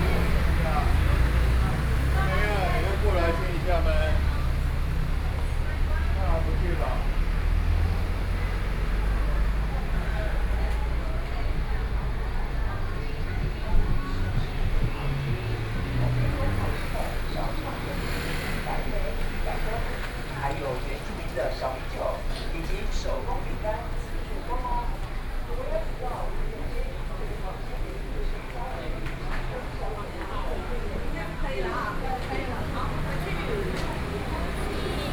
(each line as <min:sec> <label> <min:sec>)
0:00.0 Traffic Sound 0:35.1
0:00.0 Various shops voices 0:35.1
0:00.0 walking on the road 0:35.1